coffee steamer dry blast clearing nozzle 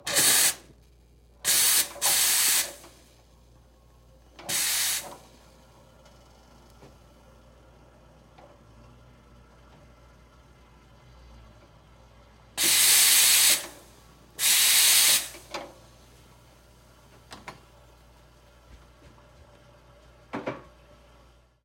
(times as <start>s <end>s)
0.0s 0.7s, 1.4s 3.0s, 4.4s 5.3s, 12.6s 15.6s